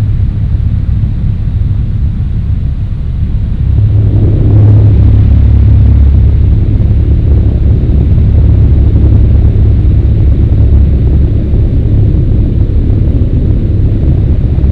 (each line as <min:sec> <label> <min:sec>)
0:00.0 fan 0:14.7